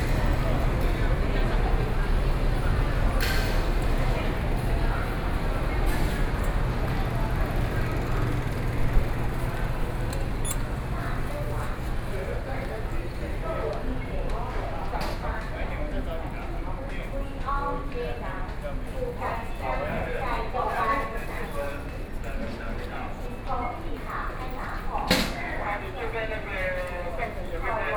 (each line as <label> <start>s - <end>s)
Train arrived 0.0s - 15.4s